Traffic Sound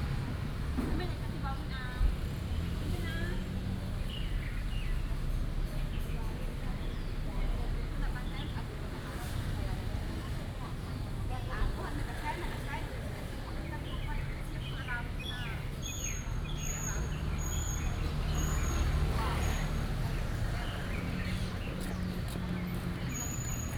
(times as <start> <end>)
15.1 23.7